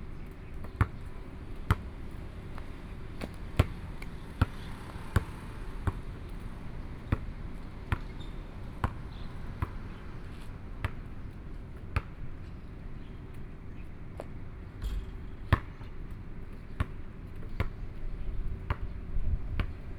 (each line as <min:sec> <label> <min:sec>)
0:00.2 Playing basketball 0:13.5
0:01.4 Traffic Sound 0:10.8
0:14.2 Playing basketball 0:19.9